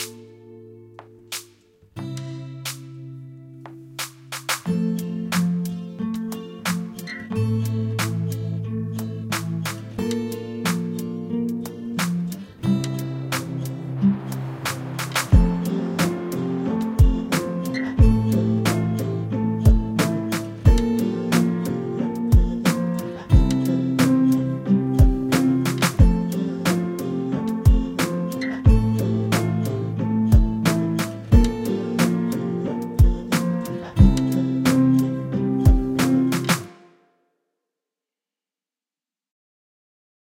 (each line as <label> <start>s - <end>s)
acoustic guitar 0.0s - 37.0s
drum loop 4.0s - 4.8s
drum loop 14.4s - 35.1s
drum loop 35.7s - 36.7s